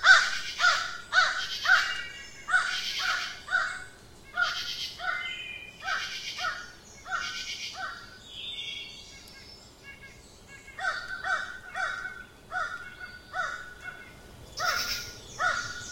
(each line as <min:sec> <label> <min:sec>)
0:00.0 birds 0:15.9
0:00.0 insects 0:15.9